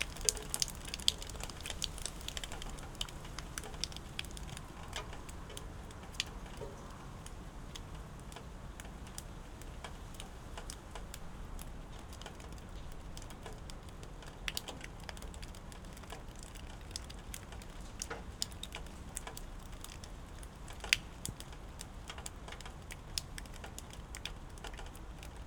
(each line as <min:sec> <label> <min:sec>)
0:00.0 raindrops 0:25.4